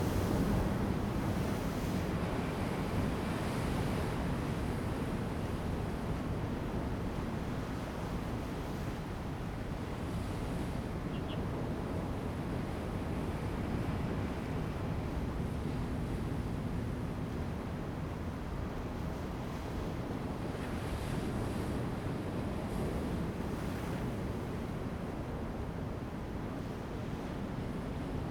waves 12.8 - 28.3

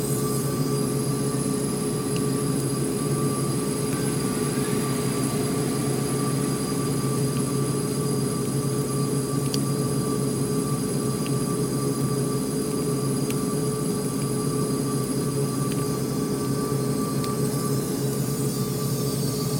air vent and pipe 0.0 - 19.5
water main 0.0 - 16.5
rainy day 3.7 - 8.5

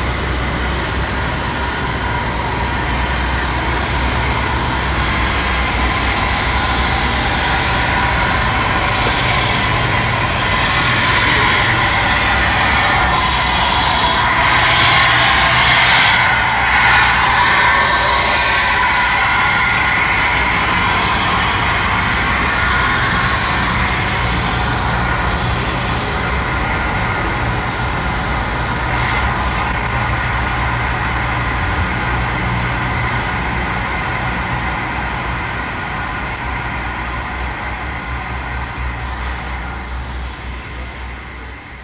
ship motors 0.2 - 25.1
passengers talking 2.1 - 19.0

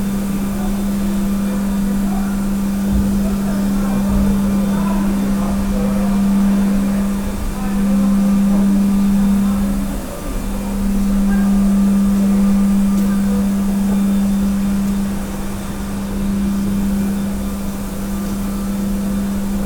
floor cleaning machine operating 0.0 - 19.6
conversations of office workers 0.0 - 19.6

